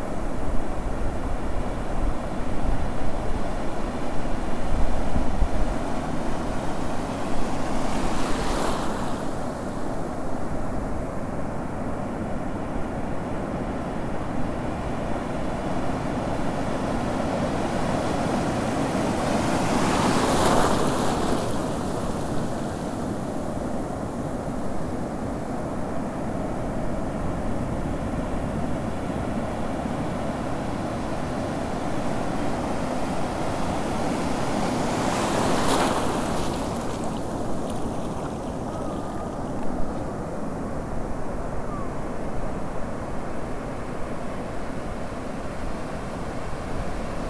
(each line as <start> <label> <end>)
0.0 waves 47.2